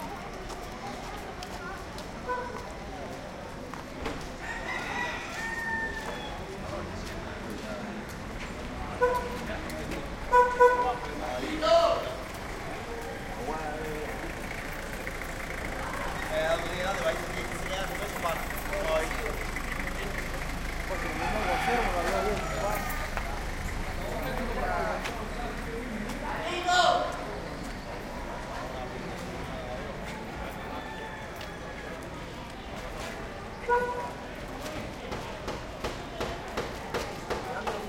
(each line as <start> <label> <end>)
0.0 street Old Havana day activity 37.8
12.0 motorcycle pass 26.4